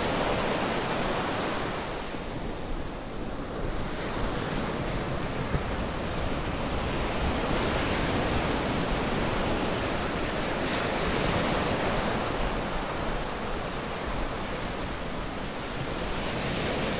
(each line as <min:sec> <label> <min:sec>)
0:00.0 Sea 0:16.9